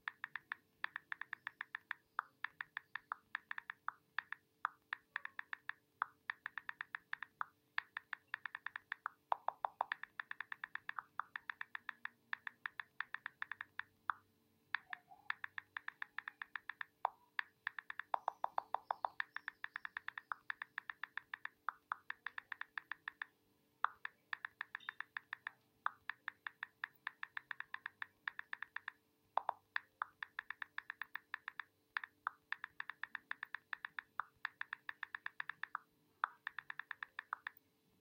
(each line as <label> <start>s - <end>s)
iPhone typing sound 0.0s - 37.6s